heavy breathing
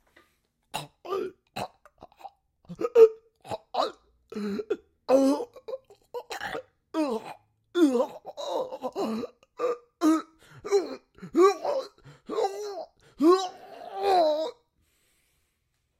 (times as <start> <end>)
10.3 13.3